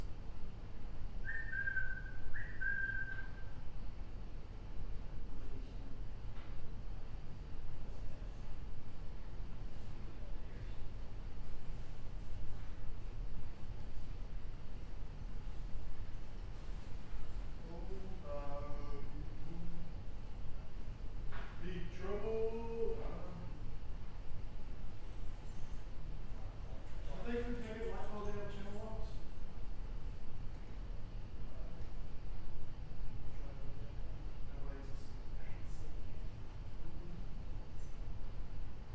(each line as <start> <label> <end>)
0.0 HVAC 38.9
1.2 custodial staff whistling 3.5